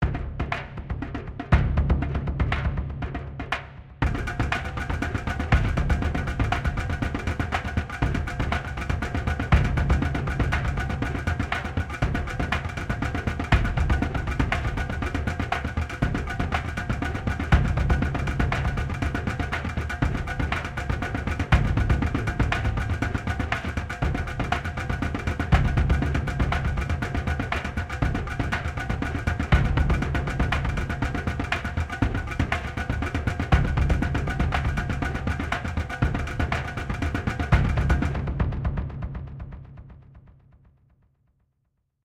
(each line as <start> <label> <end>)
0.0 Simple Percussion Loop 40.0